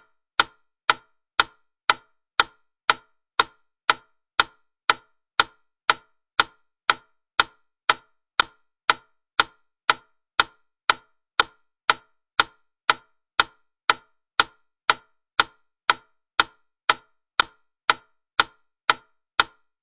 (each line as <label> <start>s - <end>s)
Wooden Wittner metronome 0.0s - 19.8s